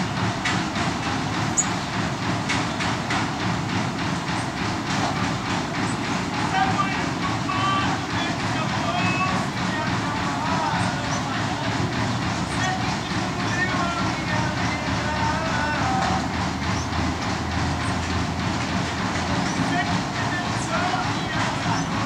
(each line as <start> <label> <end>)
0.0 noisy in potatoe production line machine 22.0
6.4 bad singer 16.6
19.6 bad singer 22.0